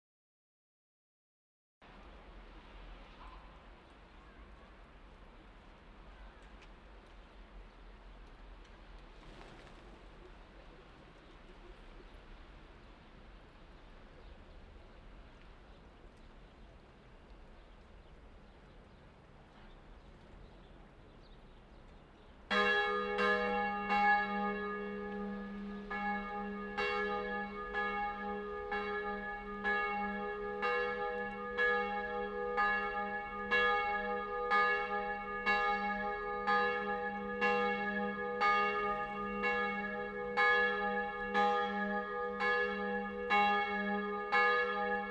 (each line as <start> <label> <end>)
3.1 birds 26.6